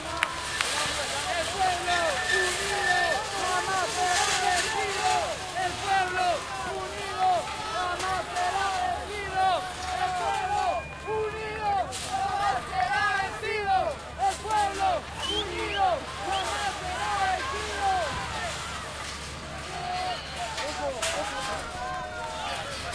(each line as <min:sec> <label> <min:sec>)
0:00.0 crowd 0:22.9